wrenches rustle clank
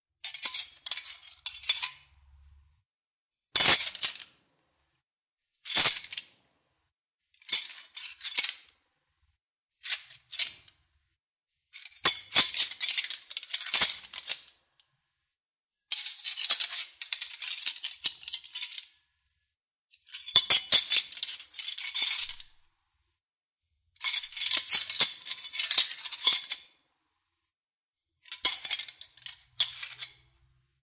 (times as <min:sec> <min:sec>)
0:28.3 0:30.3